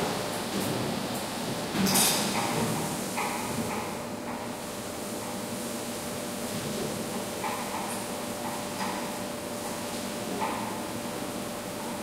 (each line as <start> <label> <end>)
0.0 water 12.0